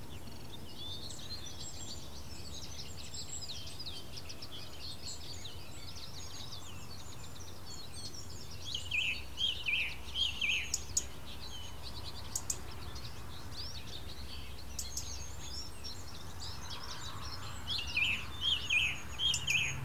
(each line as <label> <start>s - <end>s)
plenty of birds 0.0s - 19.8s
cars 17.0s - 19.8s